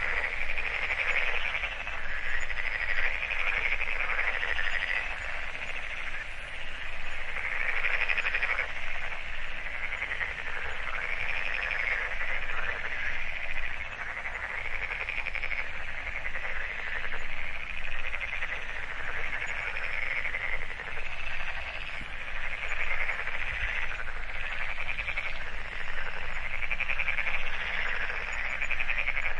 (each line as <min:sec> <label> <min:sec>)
0:00.0 frogs 0:29.3
0:00.0 geese 0:29.3
0:00.0 insects 0:29.3